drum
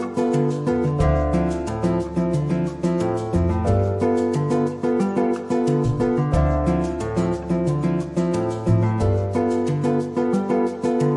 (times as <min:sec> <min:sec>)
0:00.9 0:01.8, 0:05.8 0:07.0